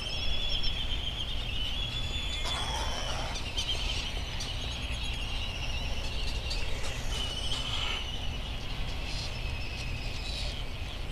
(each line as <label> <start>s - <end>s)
bonin petrel and white tern calls 2.3s - 4.4s
laysan albatross calls and bill clapperings 2.4s - 4.2s